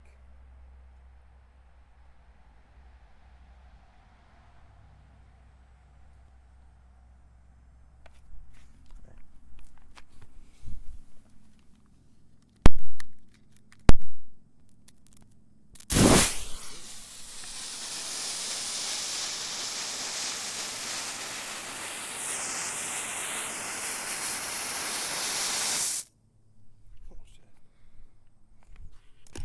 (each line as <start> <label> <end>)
15.8 Firework Fuse 26.1
15.8 Lighter 26.1